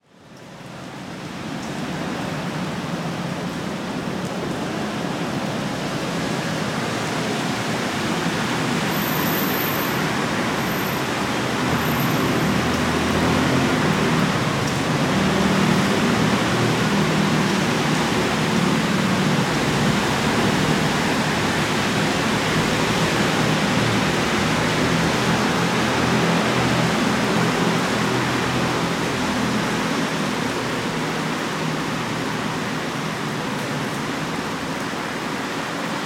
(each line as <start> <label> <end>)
0.0 BUS 36.0